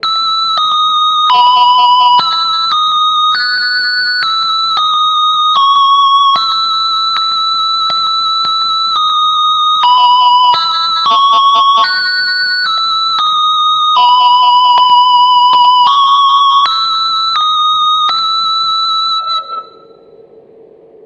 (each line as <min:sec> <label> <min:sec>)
0:00.0 synth melody through a guitar gt6 multi fx 0:20.4